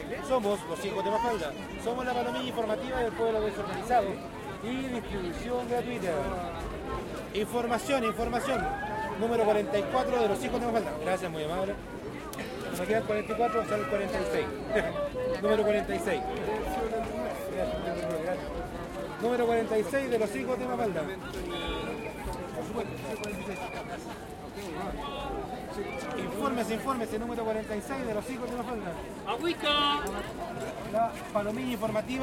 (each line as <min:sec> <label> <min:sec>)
0:00.0 crowd 0:32.2